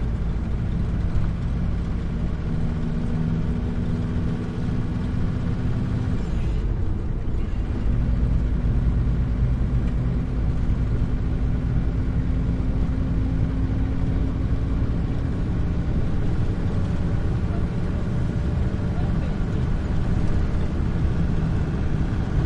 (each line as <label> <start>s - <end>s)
communal taxi van int throaty rattly accelerate decelerate 0.0s - 22.4s